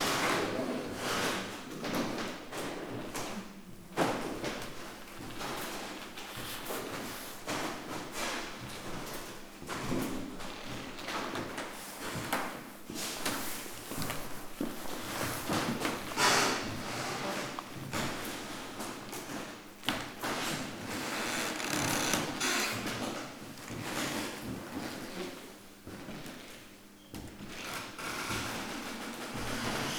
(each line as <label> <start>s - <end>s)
Squeaky Wood Floor 13.9s - 18.1s
Squeaky Wood Floor 20.4s - 23.2s
Squeaky Wood Floor 27.4s - 29.9s